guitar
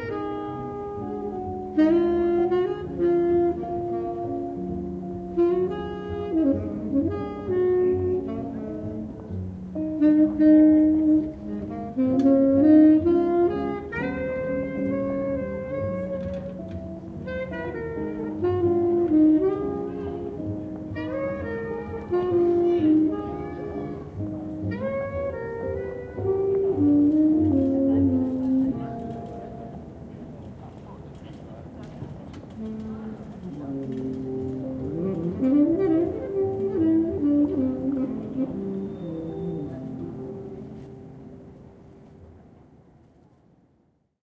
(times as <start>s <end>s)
0.0s 30.1s